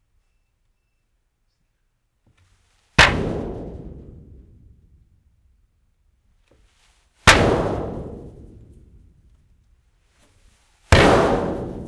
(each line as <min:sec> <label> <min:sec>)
0:03.0 metal thuds kicks resonant 0:05.2
0:07.3 metal thuds kicks resonant 0:09.3
0:10.9 metal thuds kicks resonant 0:11.8